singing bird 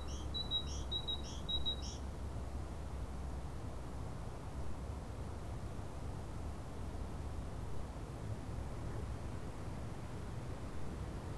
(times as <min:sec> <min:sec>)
0:00.0 0:02.0